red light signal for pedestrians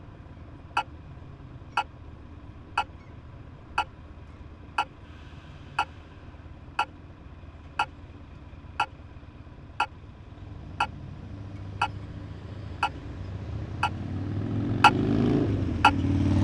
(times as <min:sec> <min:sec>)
0:15.8 0:16.0